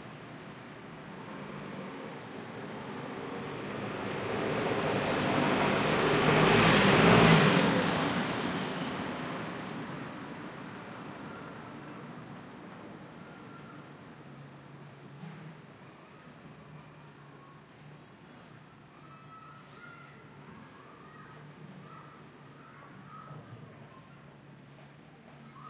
cars 0.0 - 17.2
Pedestrians 0.0 - 17.0

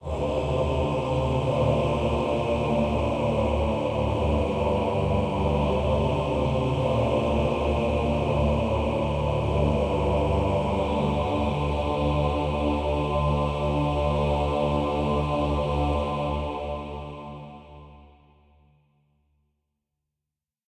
choir 0.0 - 18.8

